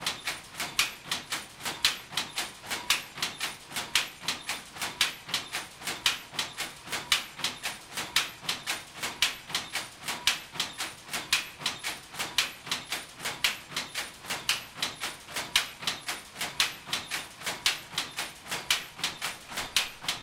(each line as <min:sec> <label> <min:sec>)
0:00.0 fabric machine 0:20.2